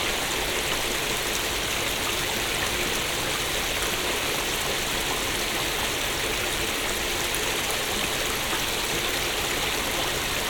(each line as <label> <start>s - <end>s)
small stream 0.0s - 10.4s